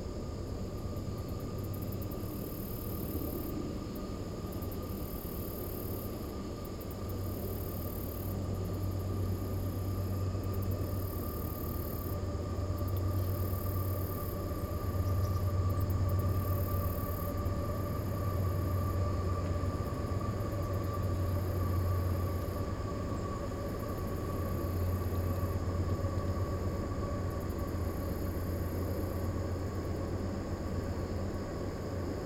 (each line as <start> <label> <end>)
0.0 train passing in the woods 32.2